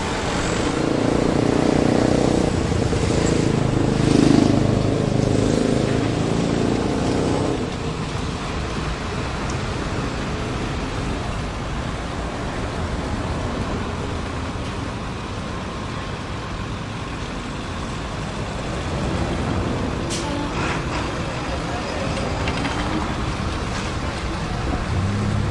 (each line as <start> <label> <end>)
0.0 mopeds 11.4
0.0 cars 25.5
0.0 motorcycles 25.5
0.0 trucks 25.5